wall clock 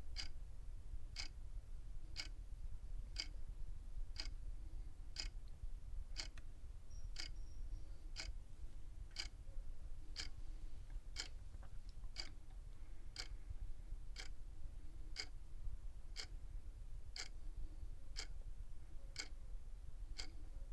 0.0 0.3, 1.2 1.4, 2.1 2.4, 3.1 3.3, 4.1 4.4, 5.2 5.4, 6.1 6.4, 7.1 7.4, 8.1 8.4, 9.1 9.4, 10.1 10.5, 11.1 11.4, 12.0 12.4, 13.1 13.4, 14.1 14.4, 15.1 15.4, 16.1 16.3, 17.2 17.4, 18.1 18.4, 19.1 19.4, 20.1 20.5

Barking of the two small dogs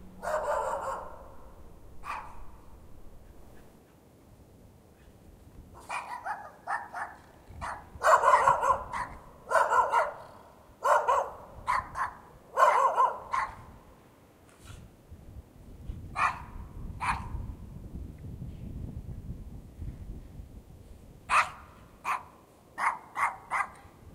0.1 2.6, 5.8 13.7, 16.1 17.4, 21.3 23.9

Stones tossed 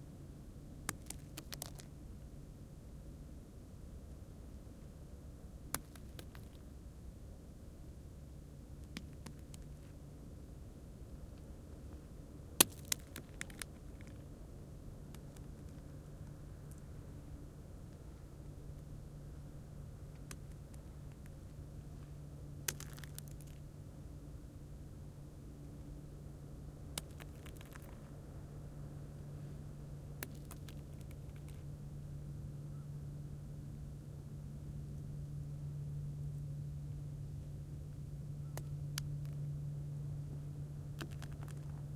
12.6 14.2, 22.7 23.6, 41.0 41.8

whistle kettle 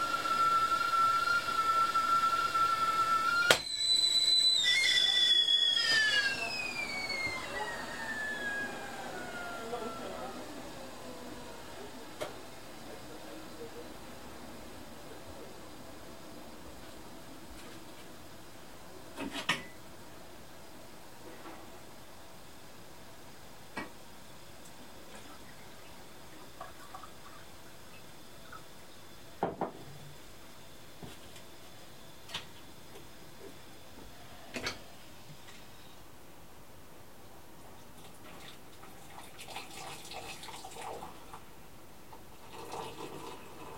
0.0 13.9

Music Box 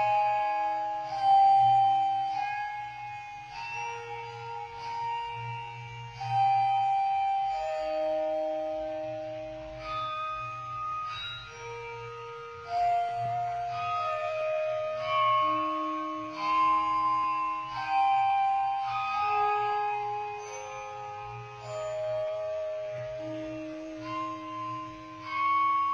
12.5 25.9

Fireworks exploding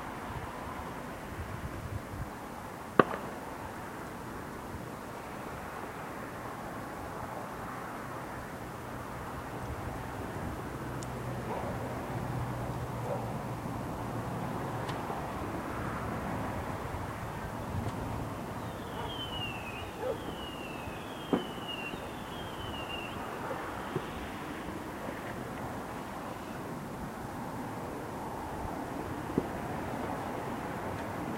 3.0 3.7, 17.8 26.5

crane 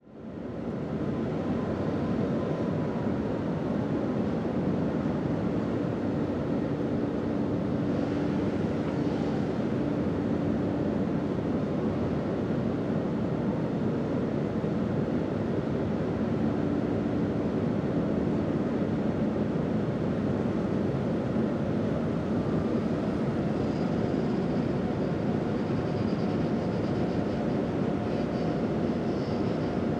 22.6 29.9

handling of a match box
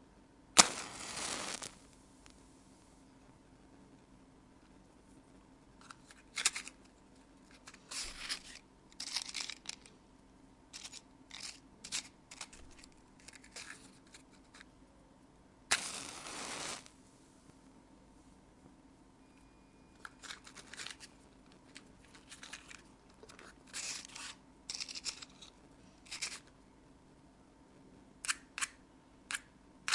5.8 9.9, 10.7 14.7, 20.0 26.5

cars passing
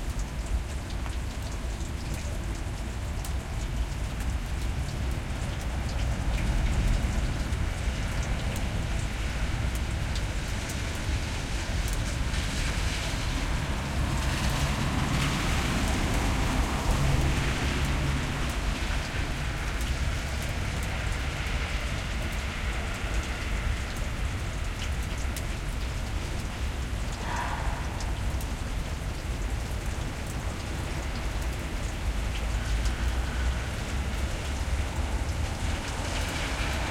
6.4 24.5, 26.0 36.9

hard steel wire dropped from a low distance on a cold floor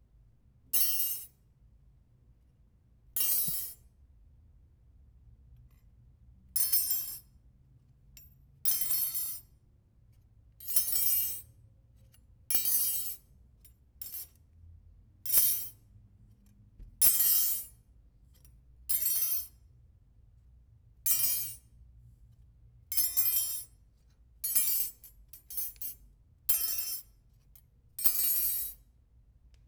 3.2 3.8

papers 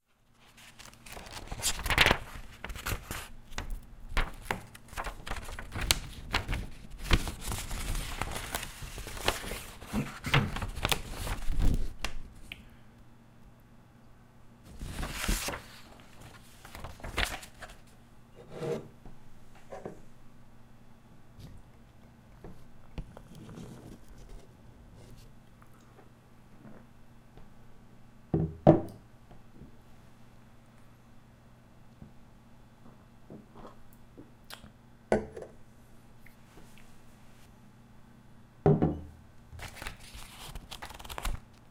0.4 12.2, 14.7 17.9, 39.6 41.6

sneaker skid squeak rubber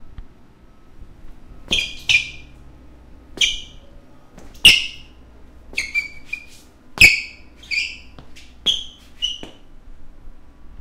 1.6 2.6, 3.3 9.7

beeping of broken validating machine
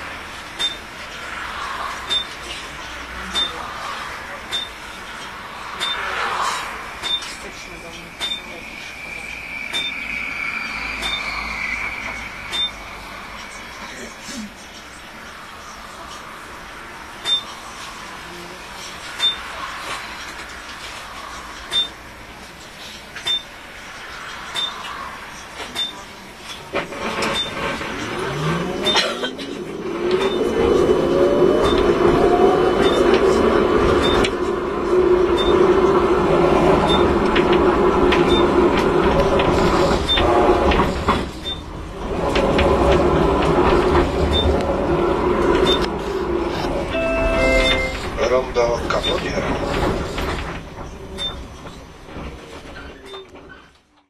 2.1 2.4, 5.8 6.1, 7.0 7.4, 8.2 13.0, 17.3 17.5, 23.3 23.5, 34.0 34.4, 35.4 35.6, 36.9 37.2, 46.9 49.5, 51.2 51.5

